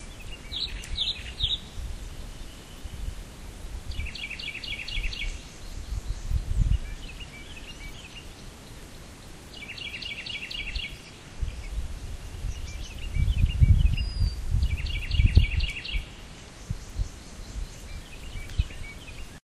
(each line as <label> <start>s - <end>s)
birdsong 0.0s - 19.4s